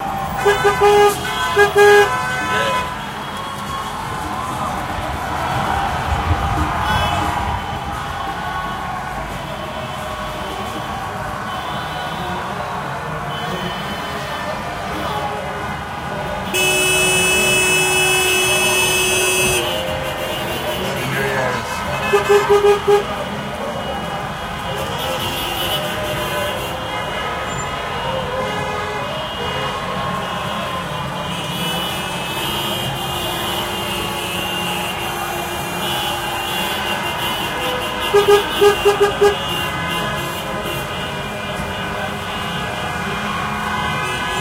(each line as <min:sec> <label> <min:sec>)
0:00.0 cars 0:44.4
0:00.0 cheering 0:44.4